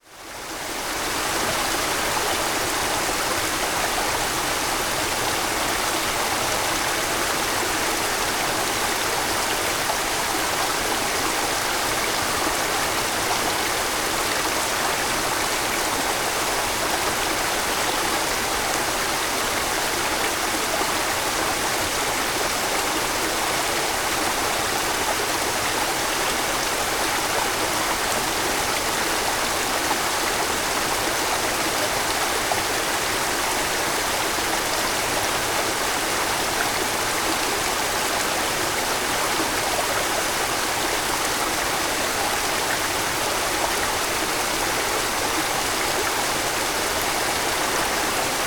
0.0s babbling waters of a stream feeding into the waterfall 48.4s

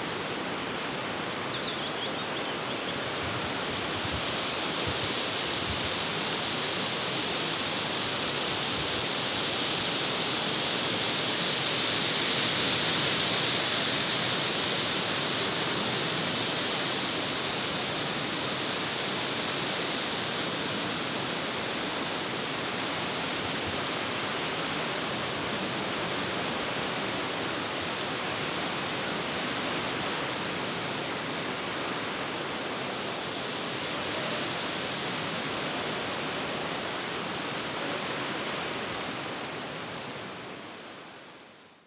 0.0s wind 41.8s
0.4s birds 3.0s

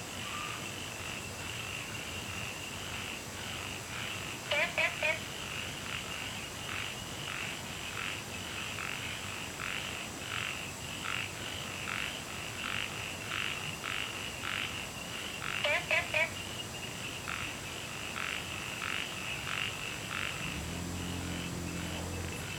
0.2s Frogs chirping 22.5s
0.2s Insects sounds 22.5s
20.1s water streams 22.5s

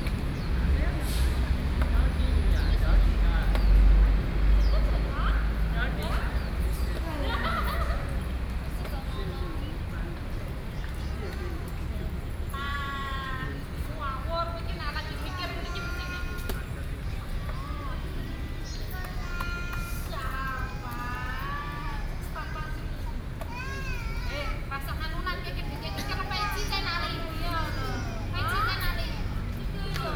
11.0s Mother and child 30.1s

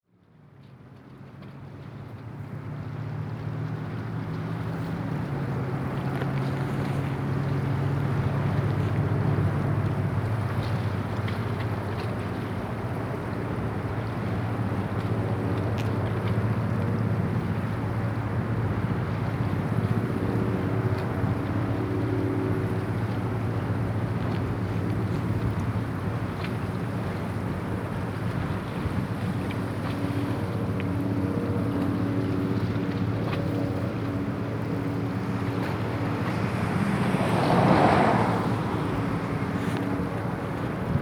0.0s boats 41.0s
0.1s waves 41.0s
3.8s planes 41.0s
35.0s cars 41.0s

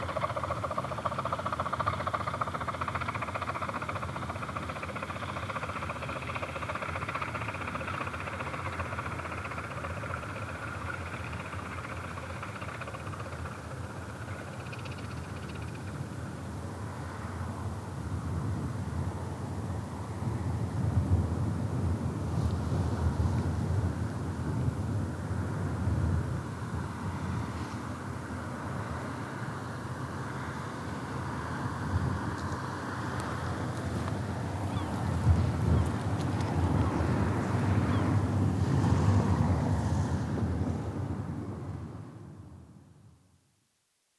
0.0s train just chuffing along the tracks rather distantly 17.6s

